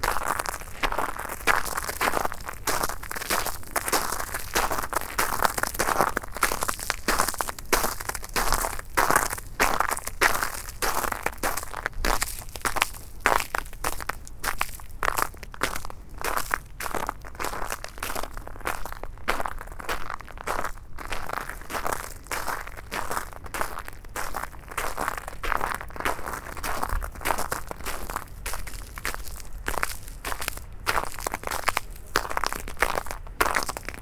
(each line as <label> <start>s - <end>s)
Walking in the black ice 0.0s - 34.0s